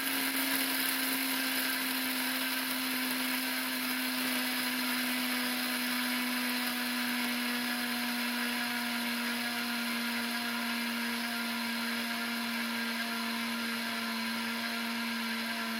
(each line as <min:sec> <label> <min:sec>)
0:00.0 ground coffee being poured into a container 0:07.6
0:00.0 coffee beans being poured into a coffee grinder 0:11.2
0:00.0 coffee grinder operating 0:15.7